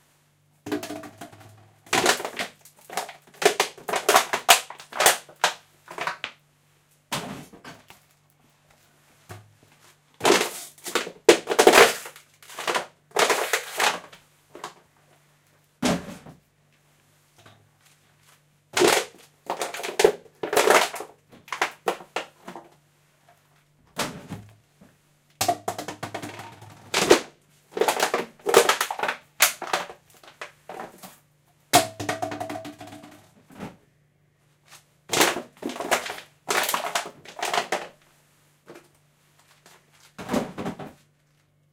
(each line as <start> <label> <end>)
0.7 Plastic bottles being crushed underfoot 6.3
10.2 Plastic bottles being crushed underfoot 14.8
18.8 Plastic bottles being crushed underfoot 22.7
25.4 Plastic bottles being crushed underfoot 31.1
31.8 Plastic bottles being crushed underfoot 33.1
35.1 Plastic bottles being crushed underfoot 38.0